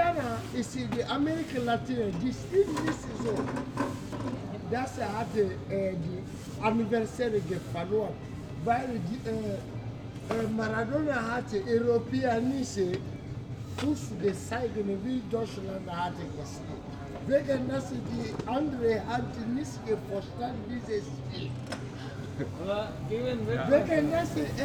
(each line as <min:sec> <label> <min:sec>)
0:00.0 african football fan explains in funny german 0:03.8
0:13.8 african football fan explains in funny german 0:21.5
0:22.5 african football fan explains in funny german 0:24.6